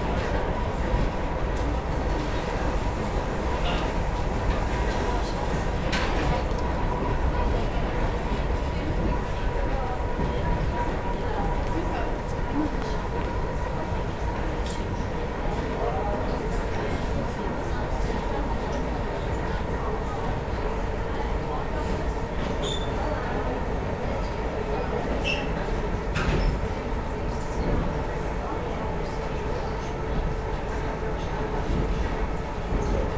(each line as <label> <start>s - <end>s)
train 0.0s - 33.1s